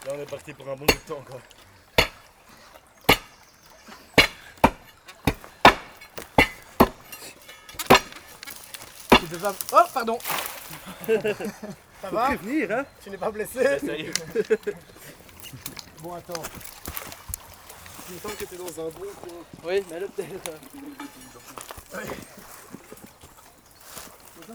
break the concrete bridge 0:00.0 - 0:11.6
small river 0:00.0 - 0:24.5

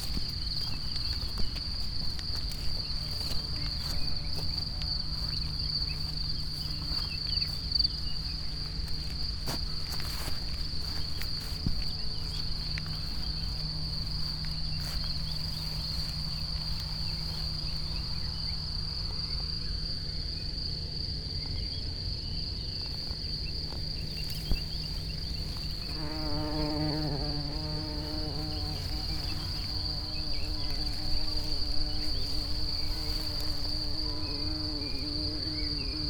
wet grass 0:00.0 - 0:18.1
wet grass 0:22.9 - 0:26.2
wet grass 0:27.1 - 0:35.7

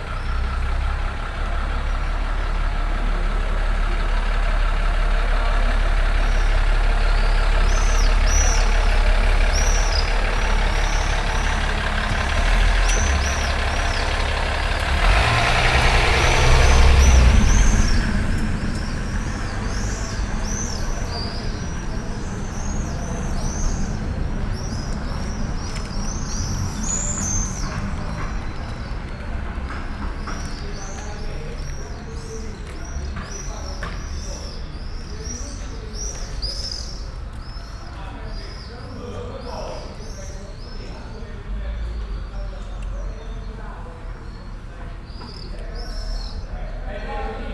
birds 0:00.0 - 0:47.5
people chatting 0:00.0 - 0:47.5
car passing 0:07.5 - 0:33.7

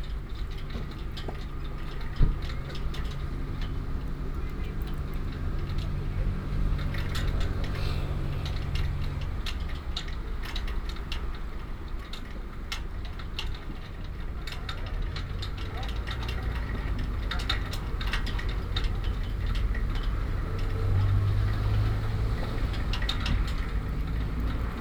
traffic 0:00.0 - 0:24.8

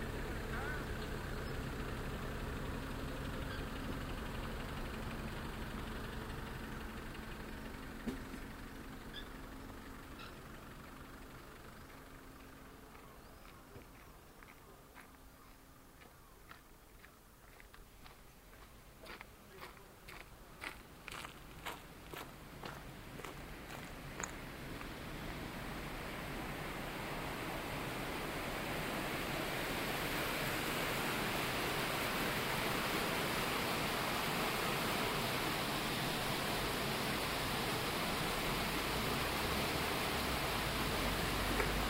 waterwheel 0:19.1 - 0:41.8

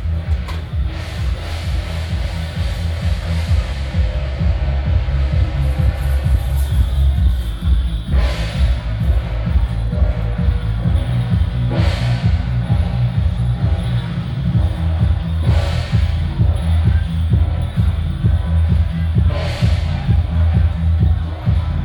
walking in the Street 0:00.0 - 0:21.8

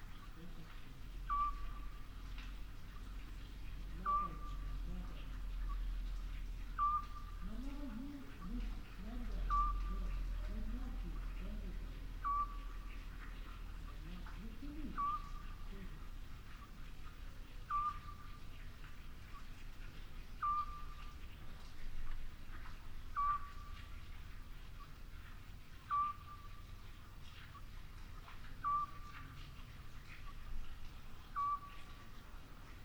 water flowing from a well 0:00.0 - 0:32.8
Eurasian Scops Owl calling 0:01.2 - 0:02.1
Eurasian Scops Owl calling 0:03.9 - 0:05.9
Eurasian Scops Owl calling 0:06.6 - 0:11.0
Eurasian Scops Owl calling 0:12.2 - 0:15.9
Eurasian Scops Owl calling 0:17.6 - 0:18.4
Eurasian Scops Owl calling 0:20.3 - 0:21.2
Eurasian Scops Owl calling 0:23.1 - 0:23.8
Eurasian Scops Owl calling 0:25.8 - 0:26.7
Eurasian Scops Owl calling 0:28.6 - 0:29.3
Eurasian Scops Owl calling 0:31.3 - 0:32.1

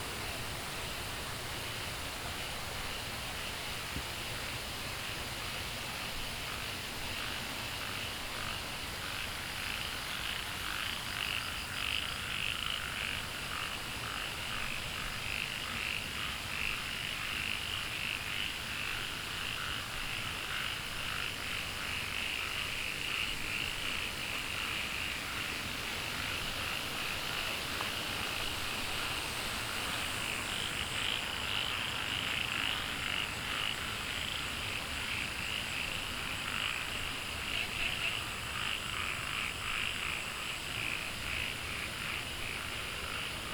Walking along the stream 0:18.6 - 0:43.5
Frogs chirping 0:28.4 - 0:43.5

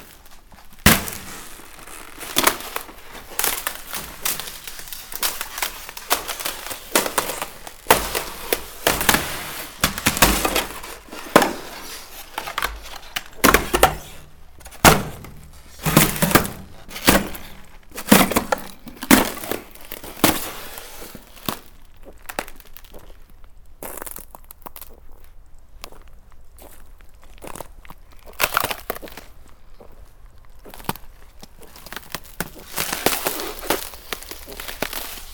Breaking ice plates 0:00.0 - 0:23.0
Breaking ice plates 0:30.7 - 0:35.3

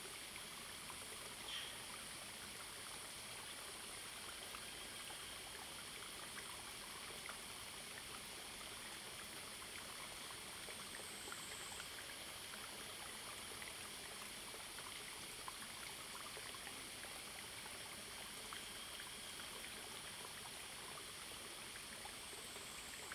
Small streams 0:00.0 - 0:23.1

